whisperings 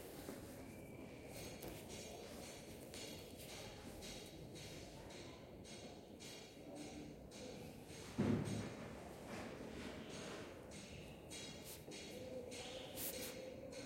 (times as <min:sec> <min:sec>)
0:12.0 0:13.8